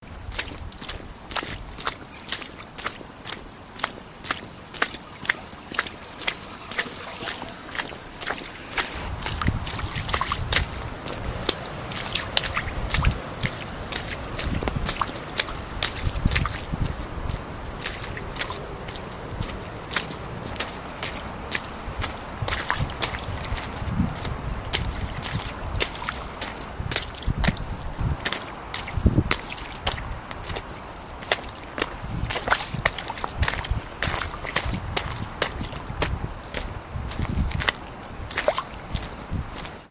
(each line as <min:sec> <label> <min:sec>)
0:00.0 footsteps splashing in small puddles and some mud 0:39.9
0:08.1 wind interference 0:25.8